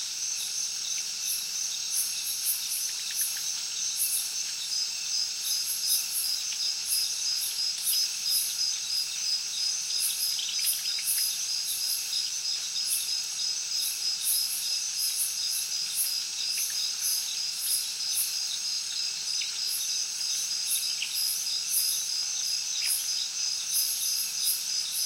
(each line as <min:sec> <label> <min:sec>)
0:00.0 heavy crickets 0:25.0